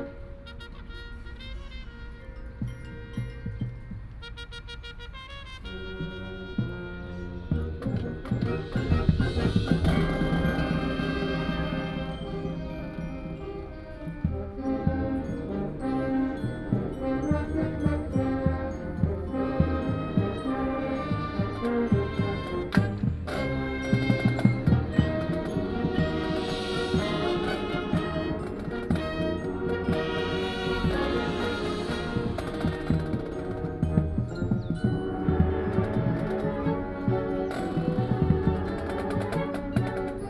High school marching band is practicing 0:00.0 - 0:40.2

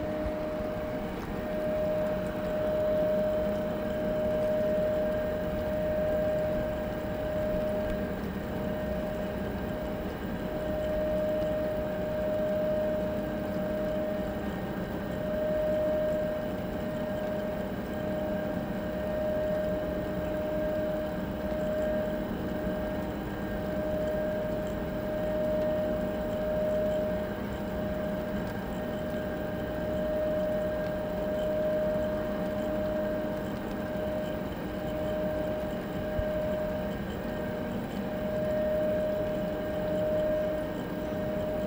electrical noise/hum 0:00.0 - 0:41.6

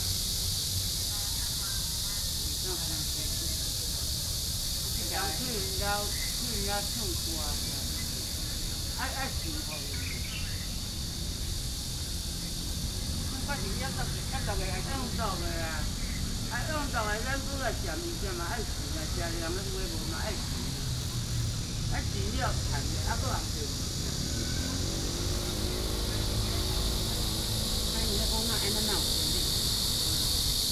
Cicadas called 0:00.0 - 0:30.7
Bird calls 0:05.8 - 0:13.5

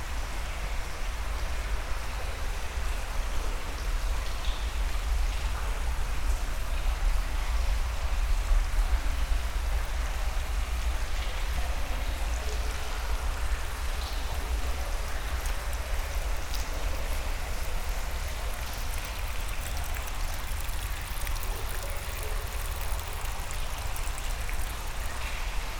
Dirty underground river 0:09.9 - 0:25.7
Walking into the underground river 0:13.9 - 0:25.7

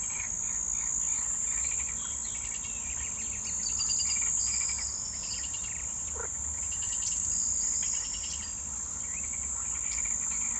frogs 0:04.0 - 0:08.0

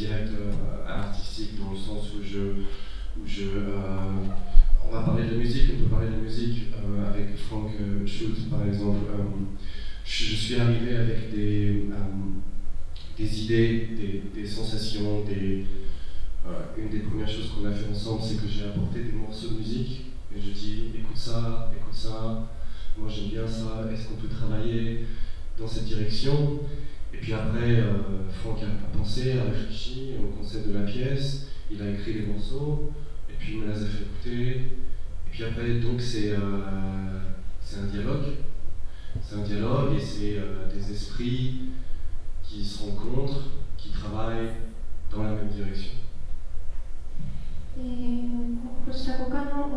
female japanese translator translating 0:47.8 - 0:49.7

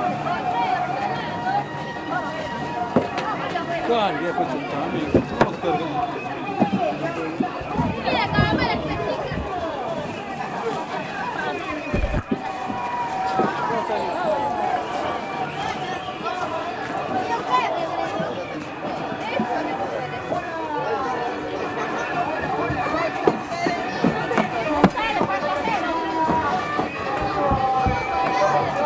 river side market noise 0:00.0 - 0:28.8

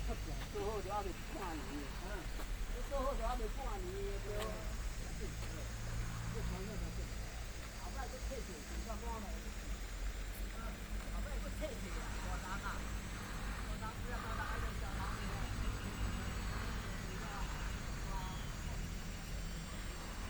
Tourists 0:00.0 - 0:20.2
Traffic sound 0:00.0 - 0:20.2

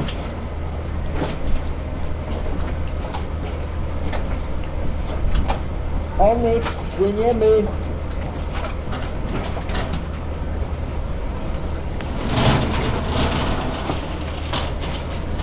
departure of ship 0:00.0 - 0:15.4

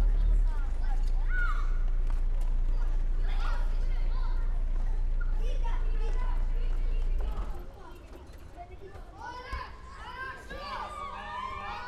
people chatting 0:00.0 - 0:01.8
cars and motorcycles passing by 0:00.0 - 0:07.6
Kids playing football 0:00.0 - 0:11.8
people chatting 0:02.6 - 0:11.8

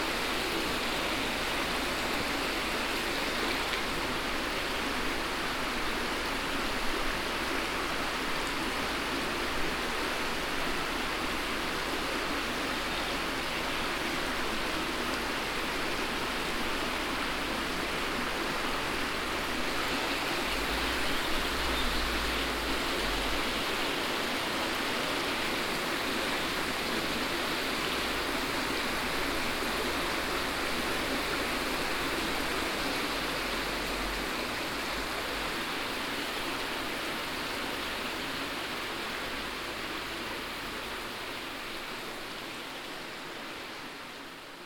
border river Our 0:00.0 - 0:44.6

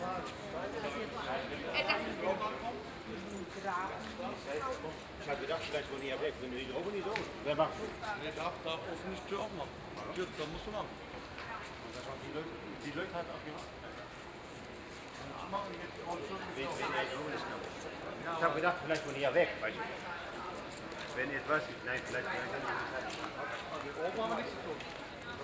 construction workers are discussing 0:00.0 - 0:25.4

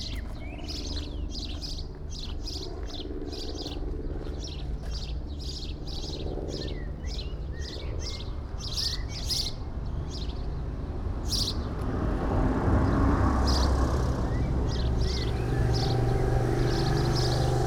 Sparrows 0:00.0 - 0:11.9
Sparrows 0:12.8 - 0:17.6

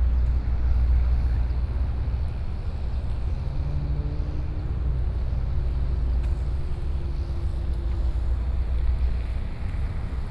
Traffic noise 0:00.0 - 0:10.3
Walk in the park 0:00.0 - 0:10.3

